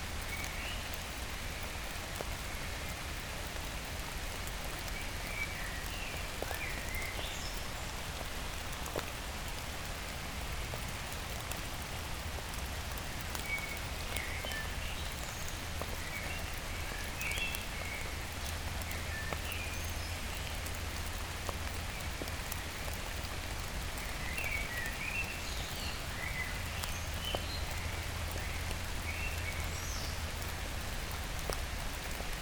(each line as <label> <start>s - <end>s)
Rain 0.0s - 32.4s
Trees trickle on the ivy 0.0s - 32.4s